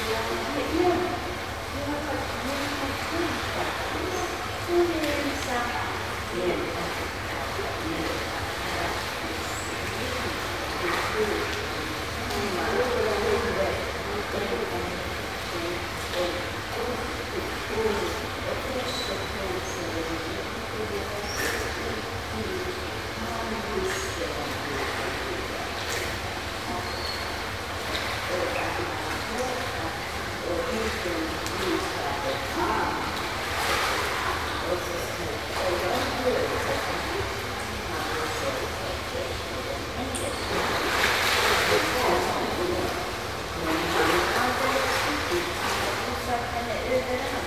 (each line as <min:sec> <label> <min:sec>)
0:00.0 conversations 0:47.4
0:00.0 water splashes 0:47.4